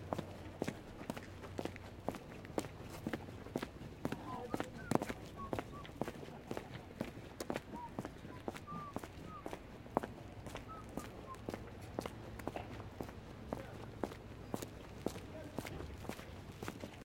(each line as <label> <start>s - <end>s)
Footsteps on concrete 0.0s - 17.0s
low whistling 7.7s - 9.5s
low whistling 10.7s - 11.5s